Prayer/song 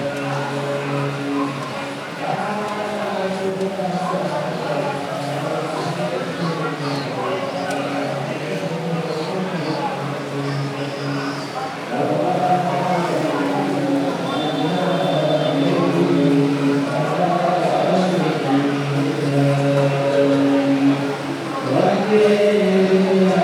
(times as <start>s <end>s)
11.8s 23.4s